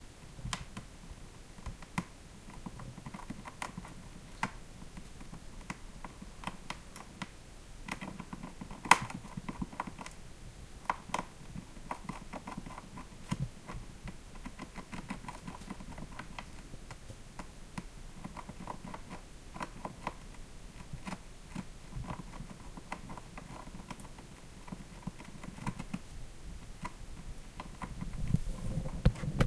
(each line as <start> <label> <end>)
10.8 rat gnawing its way down through our wooden ceiling 29.4